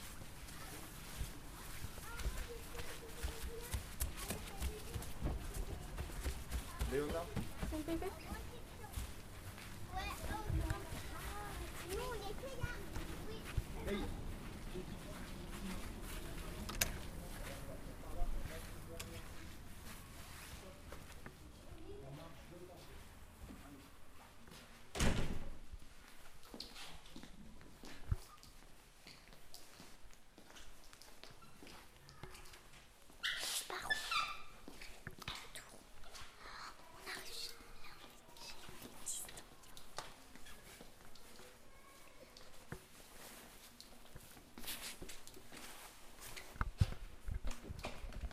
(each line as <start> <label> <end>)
0.0 childrin walking through the school 48.3